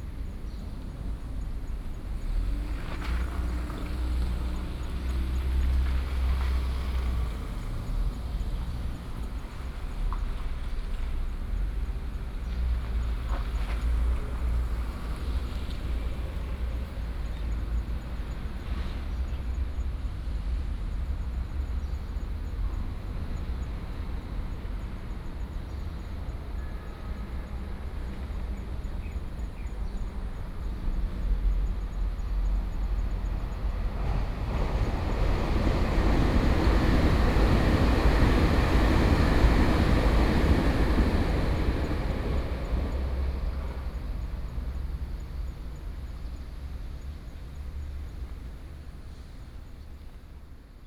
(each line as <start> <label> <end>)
0.0 Traffic Sound 50.8
0.0 Traveling by train 50.8